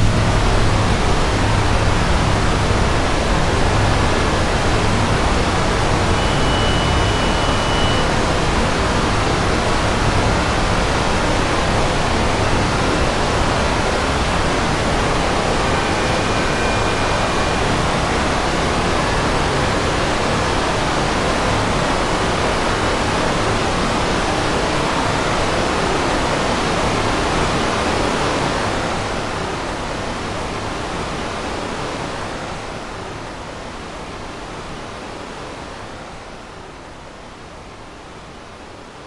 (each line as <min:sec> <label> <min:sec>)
0:00.0 Space Machinery 0:07.0